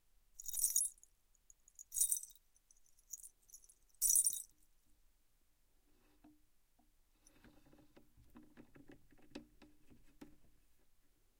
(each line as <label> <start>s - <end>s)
jewellery sounds 0.4s - 4.5s